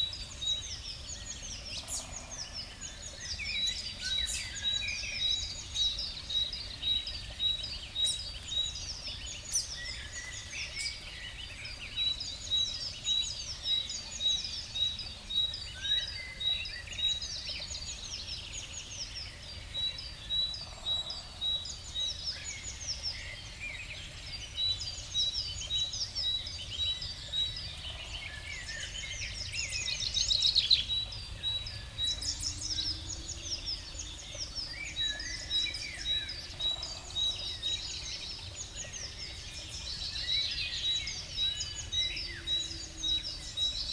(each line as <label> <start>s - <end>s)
small stream 0.0s - 43.9s